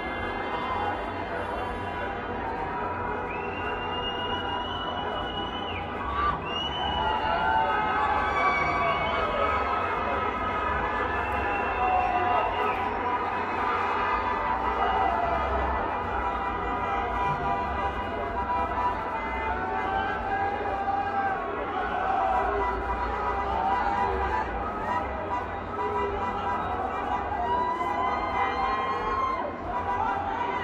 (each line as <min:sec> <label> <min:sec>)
0:00.0 cheering 0:30.6
0:00.0 traffic 0:30.6